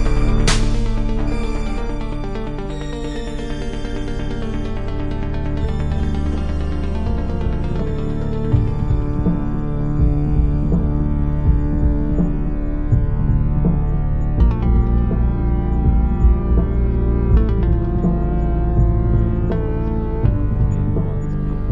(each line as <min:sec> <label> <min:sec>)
0:00.0 music 0:21.7